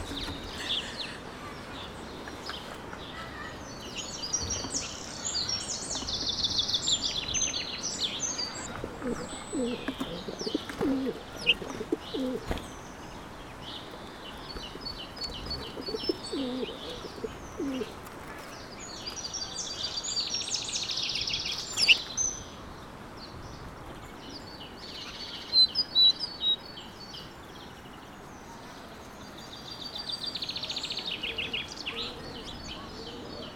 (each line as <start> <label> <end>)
0.0 bird song 33.5